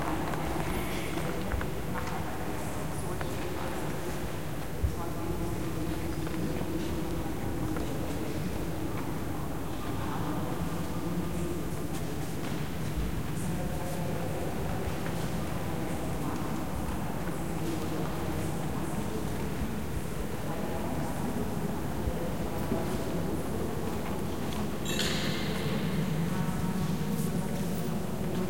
Many visitors 0.0 - 28.4

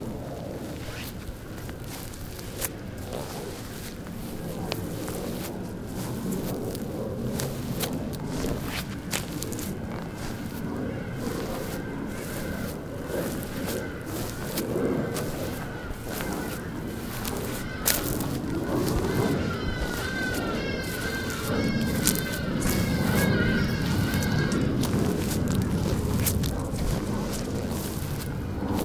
Walking on grass 0.0 - 28.8

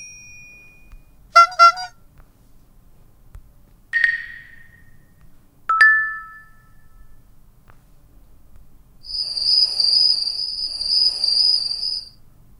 cell phone alert 1.4 - 1.9

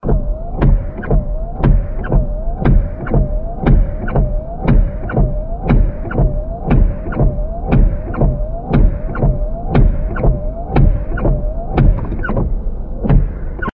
Windshield wipers wiping car windows 0.0 - 13.7

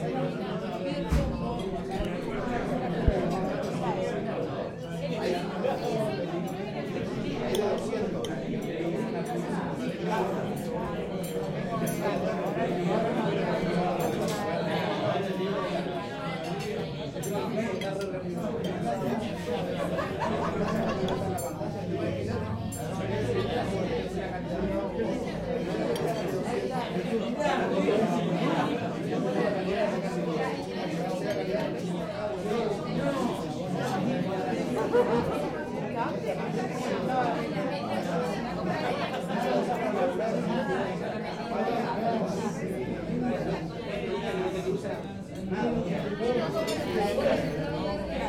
murmur 0.0 - 48.2
peopleeating 17.1 - 24.4

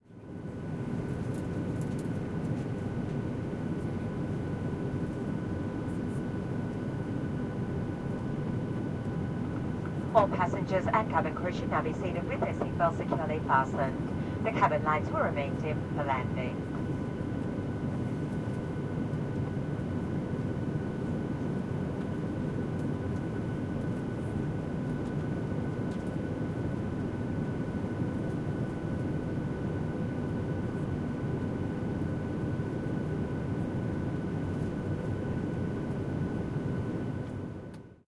Inflight Landing Warning 6.5 - 17.2

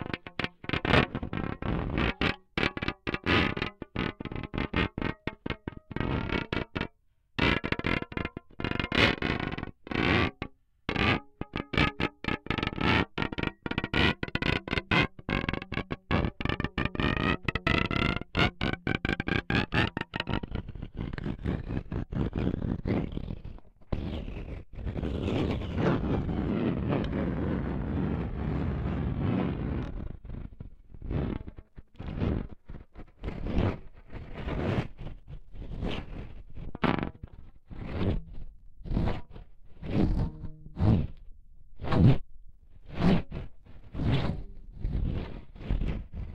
guitar string 0.0 - 20.7
guitar string 37.9 - 41.2

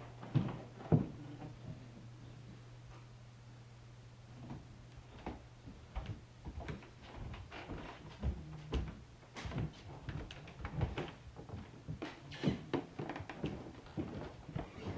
Footsteps 4.4 - 14.9

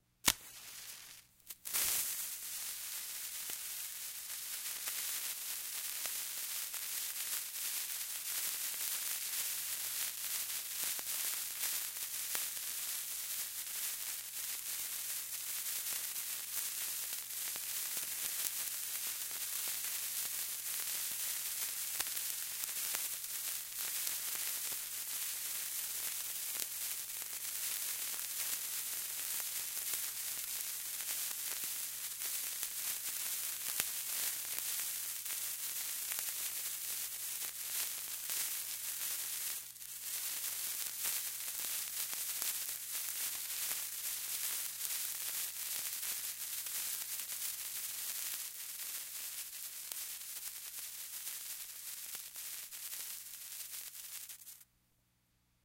birthday sparkler 0.0 - 54.7
match being struck 0.2 - 6.2
match being struck 51.2 - 54.6

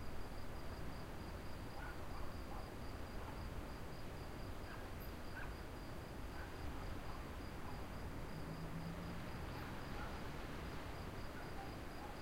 crickets 0.0 - 12.2
little dog barking 1.8 - 3.4
distant road 4.4 - 12.2
little dog barking 9.6 - 10.2
little dog barking 11.3 - 12.2

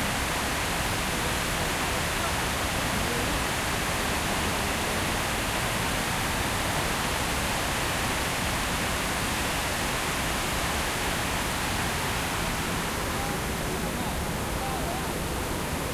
water fountain 0.0 - 15.9

